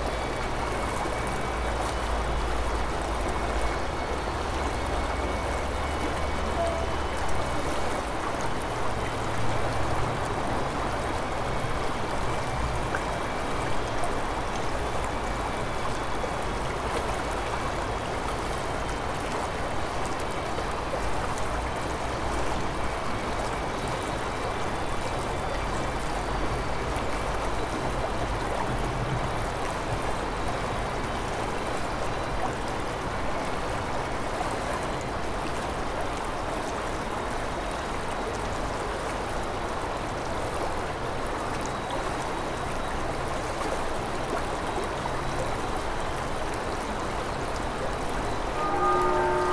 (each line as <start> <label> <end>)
0.0 river gurgling 49.5
48.6 noon bells 49.5